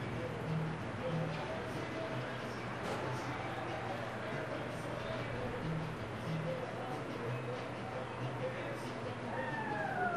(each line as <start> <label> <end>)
0.0 people 10.1